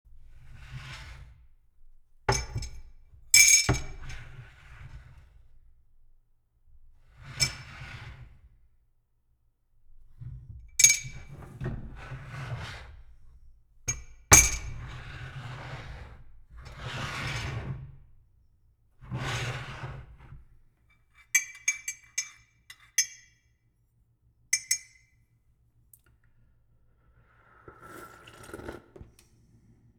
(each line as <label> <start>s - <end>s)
Sliding Tea Mug 27.3s - 29.2s
Sipping 27.4s - 29.1s